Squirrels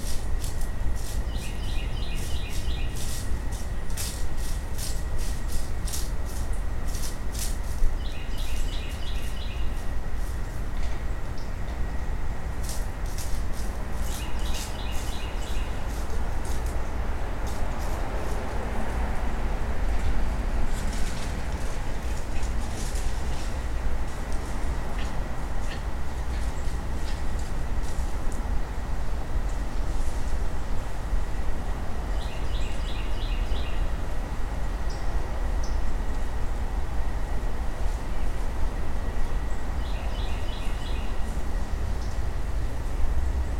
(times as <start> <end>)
0.0 10.6, 12.6 18.6